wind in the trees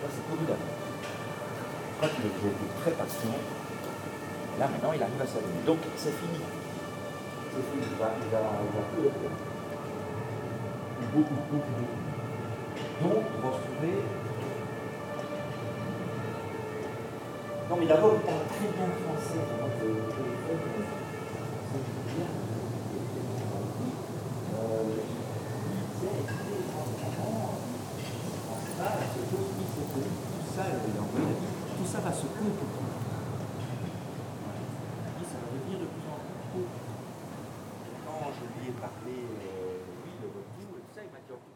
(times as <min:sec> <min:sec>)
0:19.2 0:40.9